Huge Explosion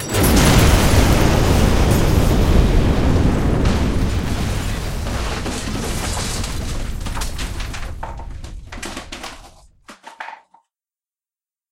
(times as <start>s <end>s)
0.0s 8.8s